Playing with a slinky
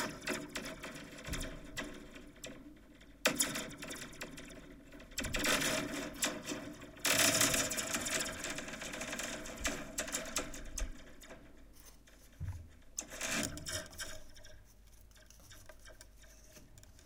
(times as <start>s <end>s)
13.0s 17.0s